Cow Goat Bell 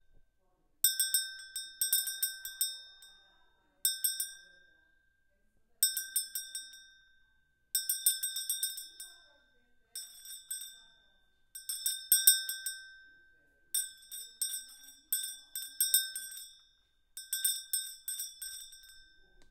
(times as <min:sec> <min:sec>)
0:07.8 0:19.5